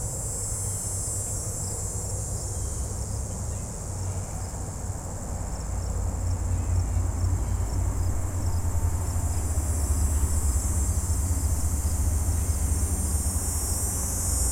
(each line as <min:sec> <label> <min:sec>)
0:00.0 Background Traffic 0:14.5
0:00.0 Cricket 0:14.5